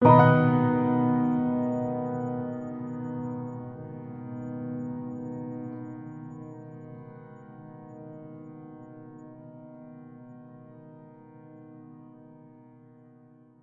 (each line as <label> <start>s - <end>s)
Piano B major 7th chord 0.0s - 6.2s